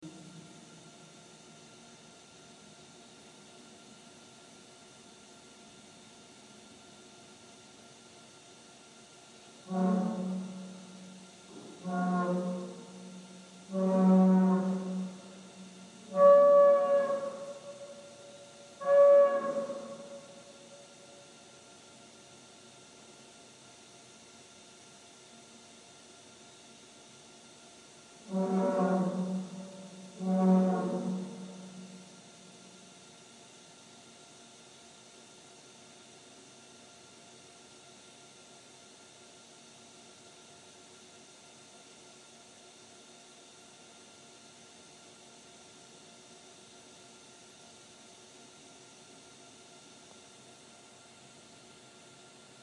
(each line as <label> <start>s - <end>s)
Industrial sound, very horn like 9.7s - 20.8s
Industrial sound, very horn like 28.3s - 32.8s